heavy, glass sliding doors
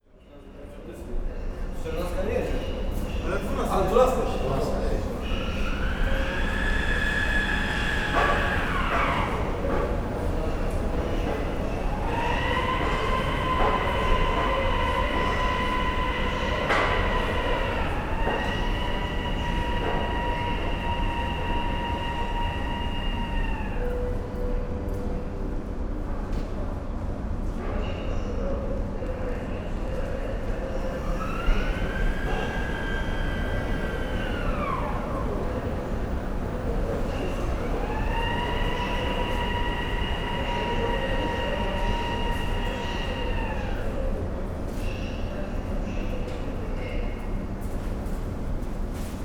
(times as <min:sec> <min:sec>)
0:03.5 0:23.4, 0:30.8 0:43.4